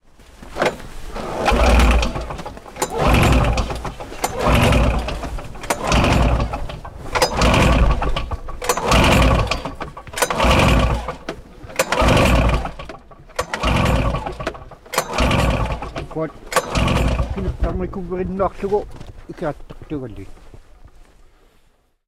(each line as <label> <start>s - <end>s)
snowmobile won't start false starts lawnmower pull cord 0.5s - 18.0s